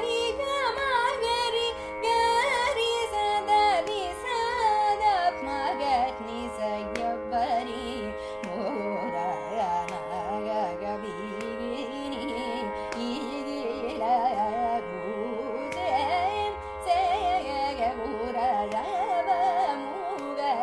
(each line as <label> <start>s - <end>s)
Carnatic varnam 0.0s - 20.6s